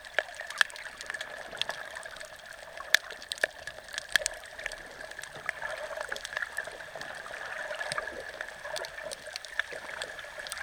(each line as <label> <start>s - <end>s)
little fish 0.0s - 10.6s